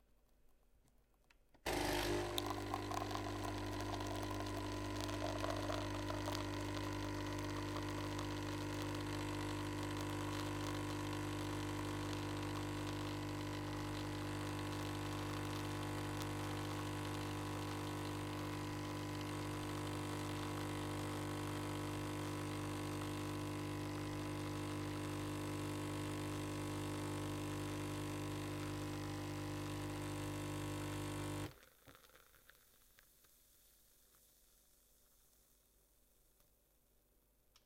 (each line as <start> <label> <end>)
1.7 Coffee Machine Motor 31.5